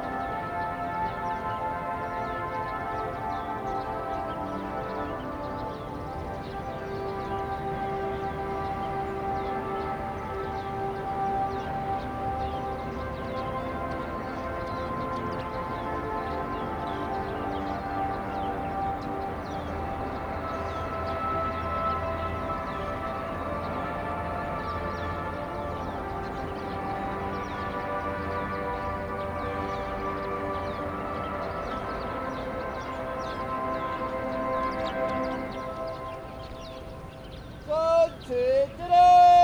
National anthem 0.0 - 39.4

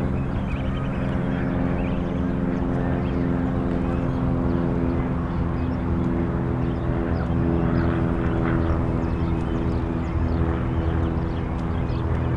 Planes 0.0 - 12.3

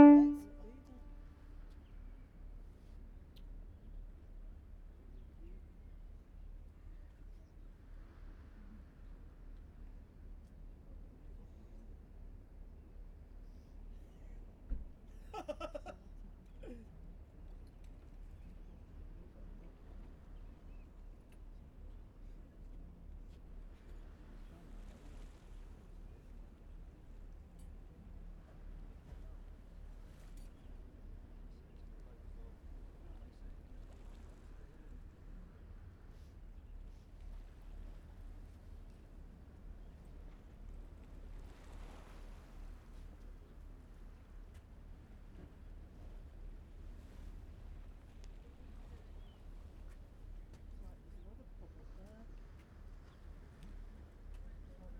voices 0.0 - 1.1
Foghorn 0.0 - 1.8

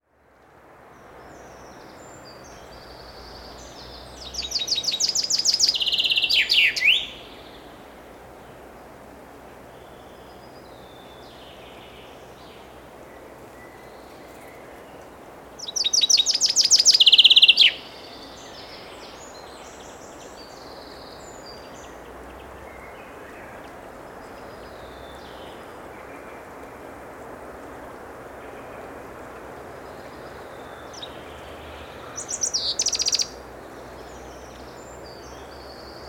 Prominent bird vocalization 1.4 - 7.7
Prominent bird vocalization 15.6 - 23.6
Prominent bird vocalization 29.9 - 33.4

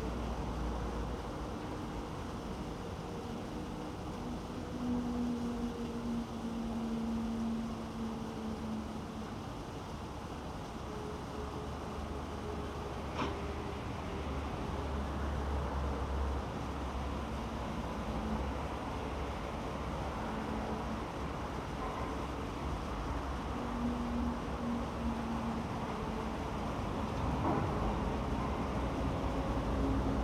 heavy traffic 0.0 - 30.2

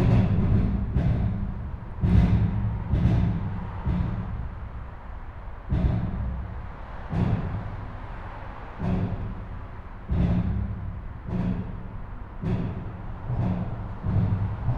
highwaybridge 0.0 - 14.7

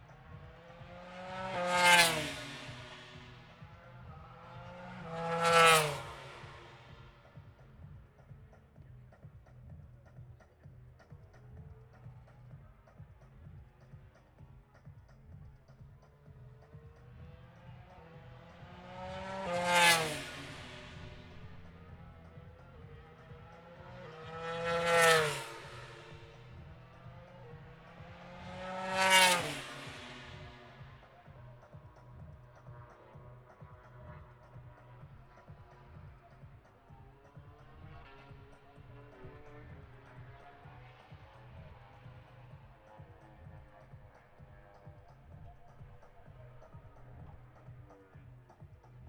motorcycle grand prix 0.0 - 49.0

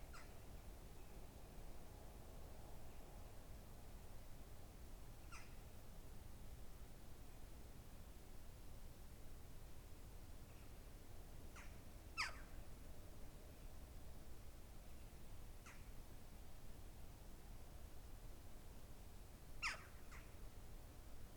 Birds at dawn 11.6 - 12.5
Birds at dawn 19.6 - 20.4

